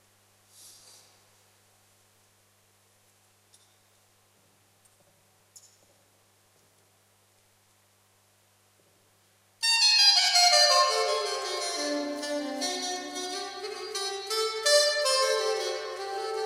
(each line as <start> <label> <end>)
9.6 sop sax solo 16.4